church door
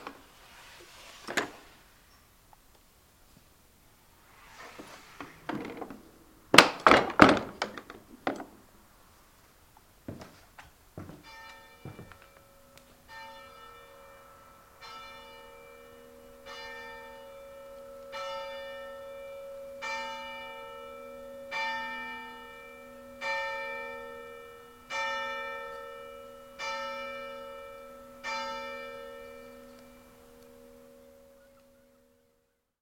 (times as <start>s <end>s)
4.5s 8.5s, 10.1s 32.2s